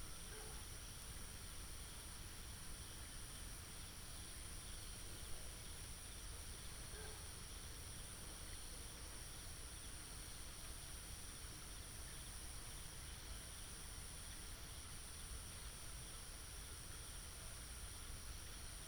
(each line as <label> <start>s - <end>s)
Insects 0.0s - 18.8s